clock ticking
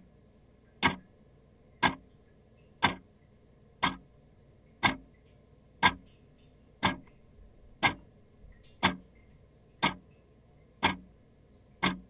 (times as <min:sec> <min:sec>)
0:00.8 0:01.0, 0:01.8 0:02.0, 0:02.8 0:03.0, 0:03.8 0:04.0, 0:04.8 0:05.0, 0:05.8 0:06.0, 0:06.8 0:07.1, 0:07.8 0:09.0, 0:09.8 0:10.0, 0:10.8 0:11.1, 0:11.8 0:12.0